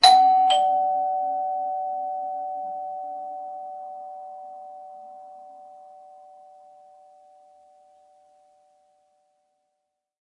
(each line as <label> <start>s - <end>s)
standard mechanical doorbell 0.0s - 6.3s